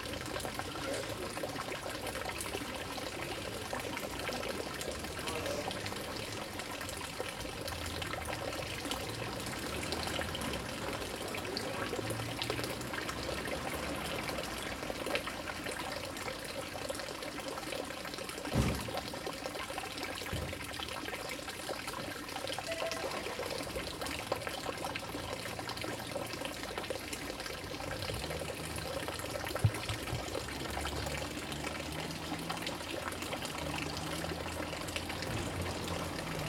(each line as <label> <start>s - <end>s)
village well 21.6s - 27.2s